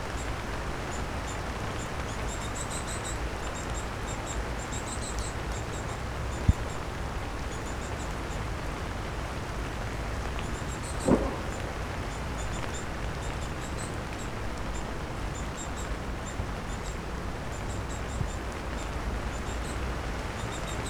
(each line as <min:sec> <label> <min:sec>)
0:00.0 summer rain 0:20.8